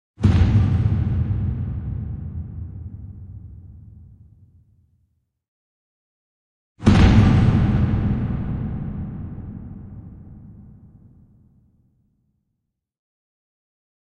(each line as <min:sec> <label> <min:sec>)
0:00.2 Bombastic thump 0:04.2
0:06.8 Bombastic thump 0:11.4